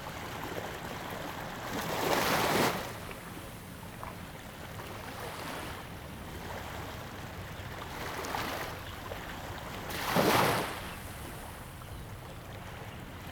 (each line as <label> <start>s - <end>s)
waves 0.0s - 13.3s